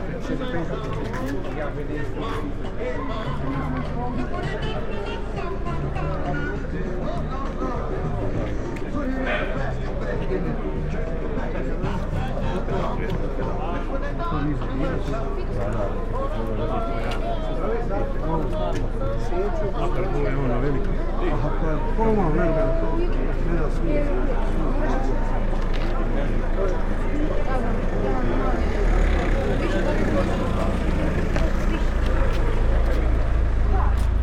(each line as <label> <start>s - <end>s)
car 24.9s - 34.2s